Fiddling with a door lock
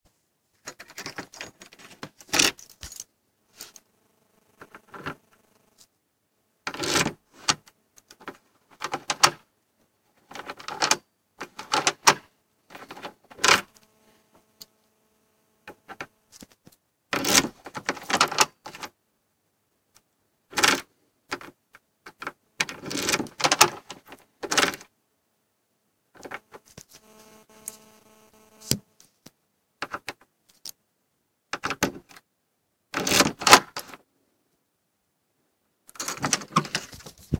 0.6 3.9, 6.7 9.5, 10.1 13.8, 15.7 19.0, 20.5 24.9, 29.8 30.8, 31.5 32.2, 32.9 34.0, 35.9 37.2

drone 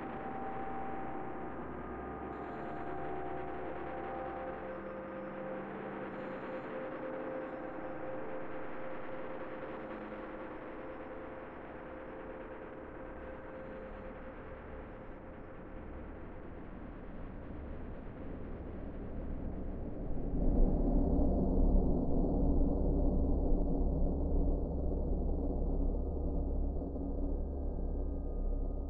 0.0 16.9

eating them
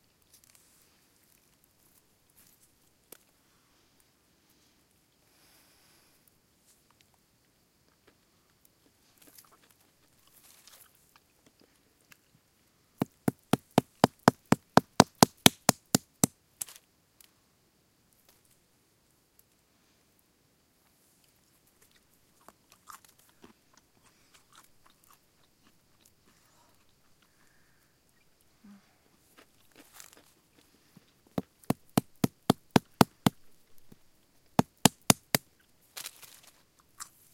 21.2 33.9

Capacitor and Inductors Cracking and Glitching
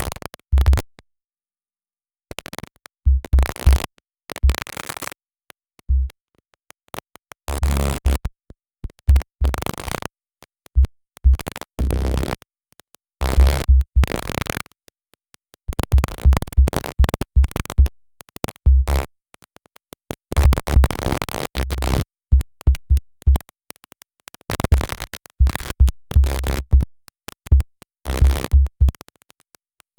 24.4 29.9

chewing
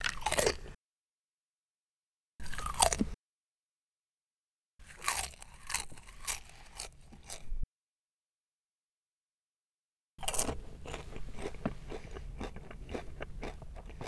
10.2 14.0

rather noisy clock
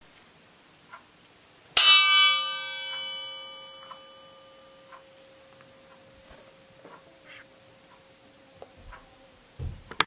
0.8 1.1, 1.8 9.2

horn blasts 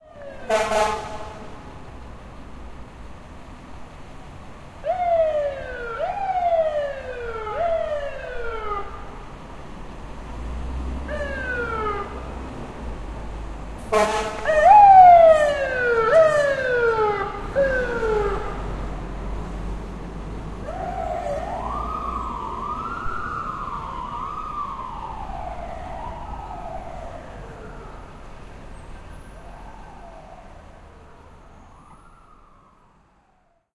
0.5 1.6, 13.8 14.5

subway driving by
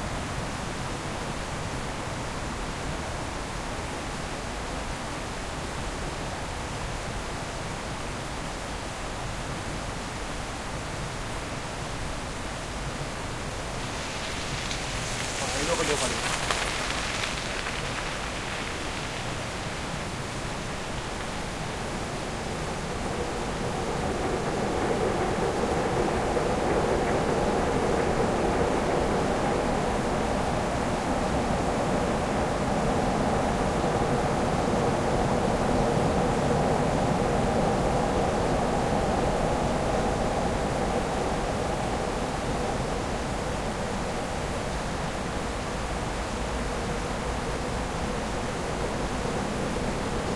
11.2 50.3

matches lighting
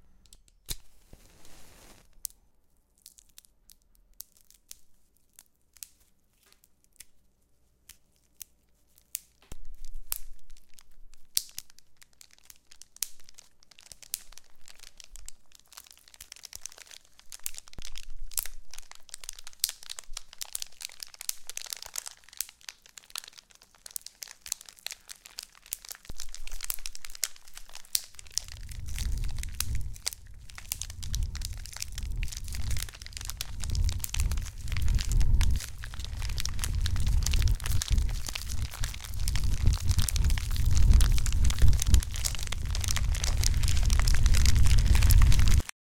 0.2 2.4

